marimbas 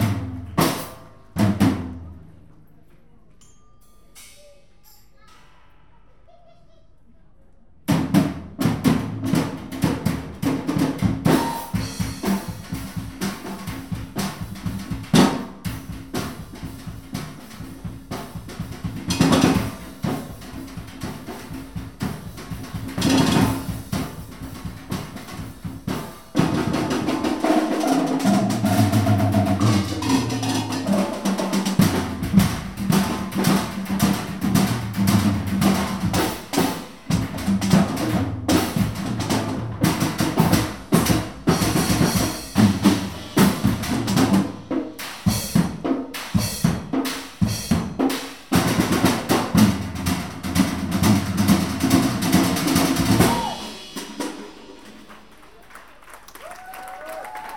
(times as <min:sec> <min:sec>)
0:03.4 0:05.2, 0:27.8 0:31.5